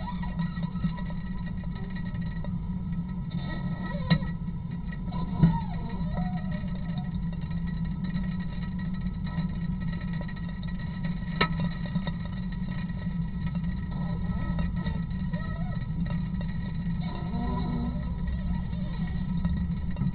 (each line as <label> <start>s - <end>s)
rain drops 0.0s - 20.1s